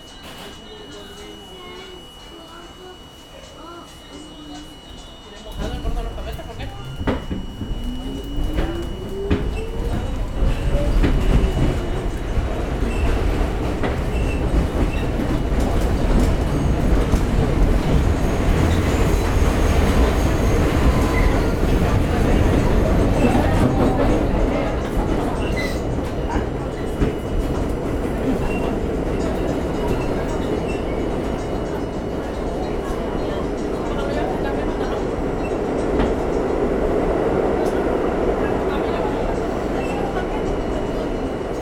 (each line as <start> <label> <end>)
0.0 M Train 41.6